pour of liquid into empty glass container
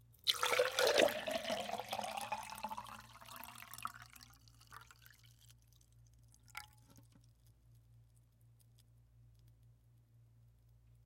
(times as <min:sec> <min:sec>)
0:00.2 0:05.6, 0:06.4 0:06.9